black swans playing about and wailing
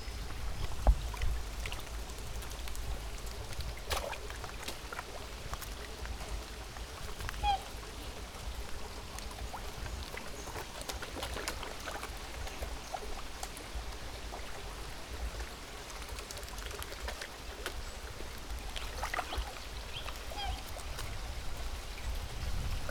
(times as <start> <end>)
7.1 8.2, 19.2 21.2